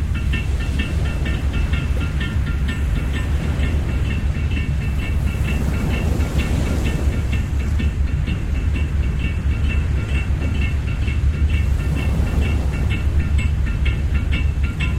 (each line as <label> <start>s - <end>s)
Fishing Boat 0.0s - 14.9s
surfing boy and mum 0.0s - 14.9s